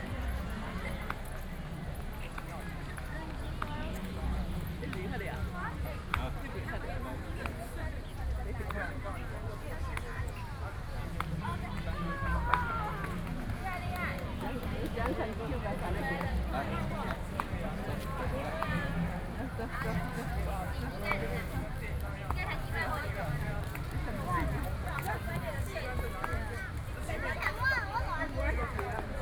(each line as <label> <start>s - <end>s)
Children's sports competitions 0.0s - 29.2s
crowd 0.0s - 29.2s